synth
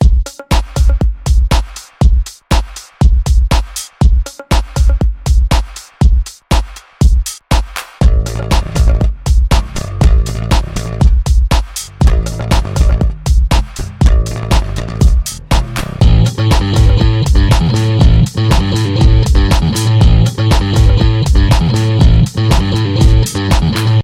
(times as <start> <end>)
16.0 24.0